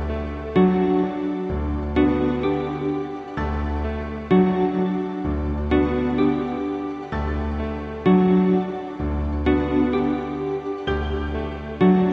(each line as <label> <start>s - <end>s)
Piano 0.0s - 12.1s